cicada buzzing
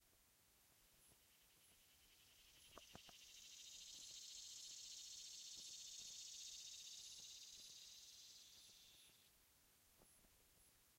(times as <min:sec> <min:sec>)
0:02.2 0:09.2